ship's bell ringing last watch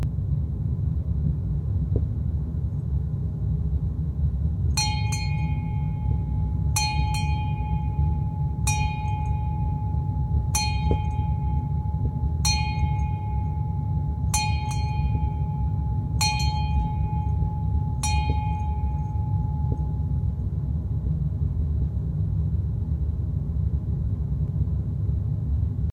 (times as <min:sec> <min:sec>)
0:04.8 0:20.5